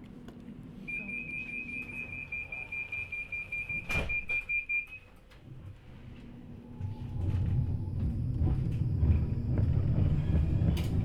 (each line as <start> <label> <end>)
5.4 tramway engine 11.0